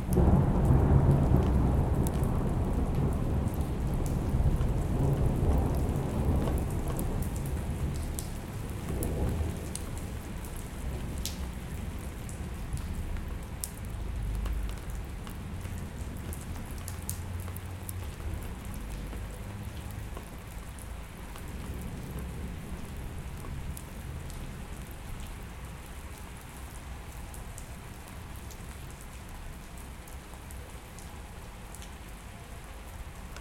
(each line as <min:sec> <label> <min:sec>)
0:00.0 rain in front 0:33.4
0:00.1 thunders 0:09.8